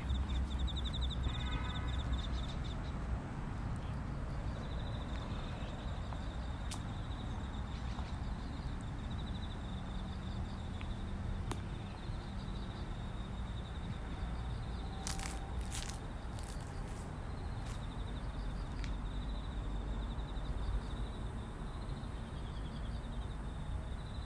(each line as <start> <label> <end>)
0.0 birds 13.0
0.0 cicadas 24.2